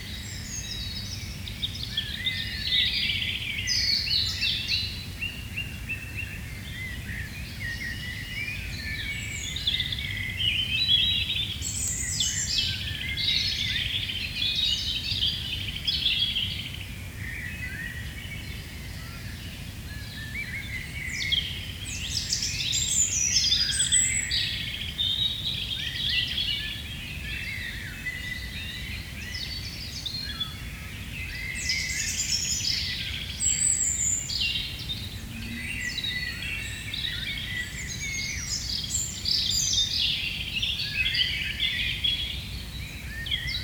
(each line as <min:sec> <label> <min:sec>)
0:00.0 Robin singing on a nearby tree 0:43.6